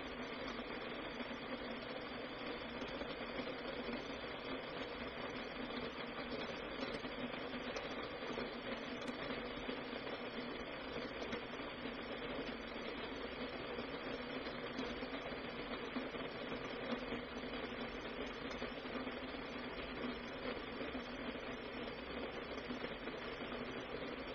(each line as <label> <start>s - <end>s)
Tea kettle on electric range heating to boil-whistle 0.0s - 24.3s